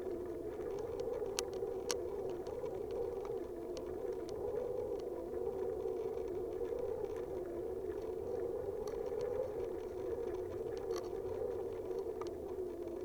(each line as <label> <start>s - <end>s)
old fishing net in the wind 0.0s - 13.0s